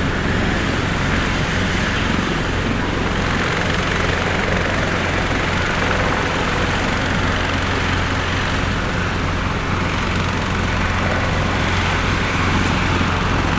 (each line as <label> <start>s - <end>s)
helicopter taking off 0.0s - 13.5s